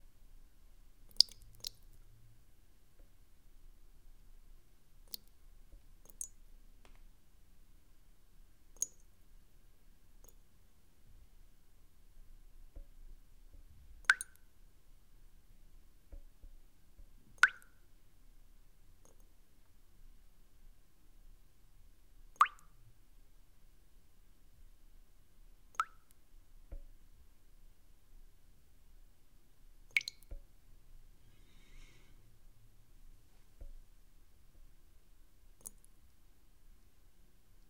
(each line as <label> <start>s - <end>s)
water drops in a bowl 1.1s - 1.8s
water drops in a bowl 6.0s - 6.4s
water drops in a bowl 14.1s - 14.4s
water drops in a bowl 17.4s - 17.8s
water drops in a bowl 22.4s - 22.8s
water drops in a bowl 25.8s - 26.9s
water drops in a bowl 29.9s - 30.5s